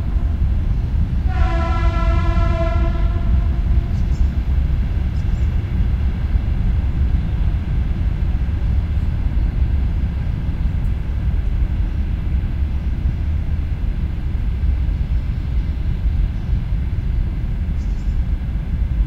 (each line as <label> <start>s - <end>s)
airplane pass-by 0.0s - 19.0s
distant train passes-by 0.0s - 19.0s
wind 0.0s - 19.0s
birds 3.8s - 5.6s